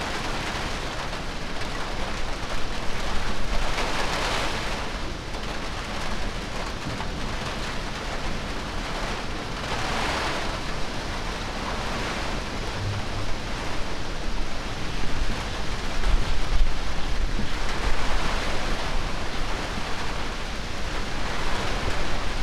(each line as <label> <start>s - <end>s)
rain 0.0s - 22.4s
storm 0.0s - 22.4s